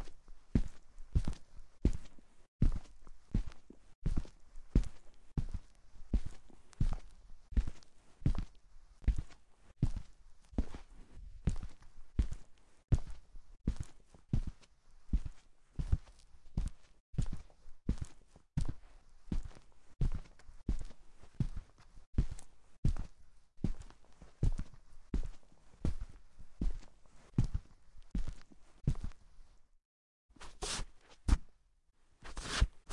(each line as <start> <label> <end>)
0.6 footsteps rug 14.6
15.2 footsteps rug 29.6
30.3 footsteps rug 31.5
32.2 footsteps rug 32.9